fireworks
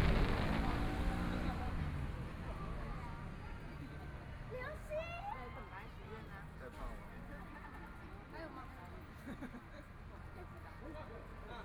0.0 1.6

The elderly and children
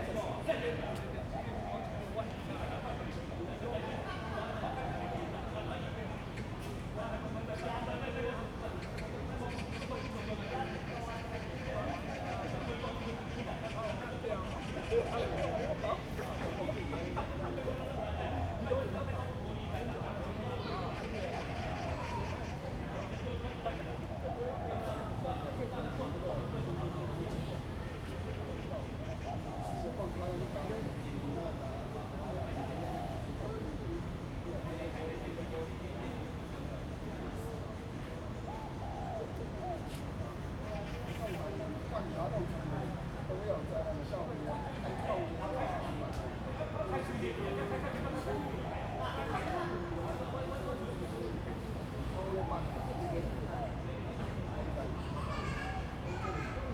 55.0 56.7

